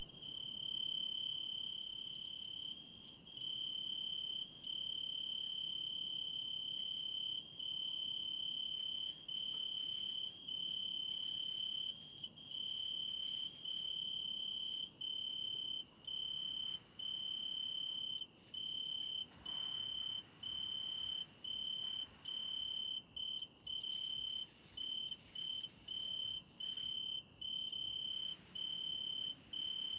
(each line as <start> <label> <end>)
0.0 Tree Crickets Oecanthus pellucens 29.9